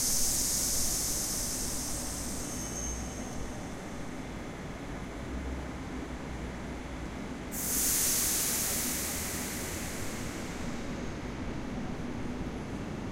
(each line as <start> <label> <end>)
0.0 trains letting off compressed air 4.1
0.0 trains arriving and departing 13.1
7.5 trains letting off compressed air 12.1